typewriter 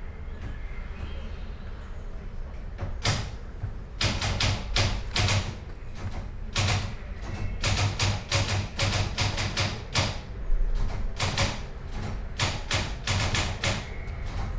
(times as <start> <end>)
3.0 3.4, 4.0 14.5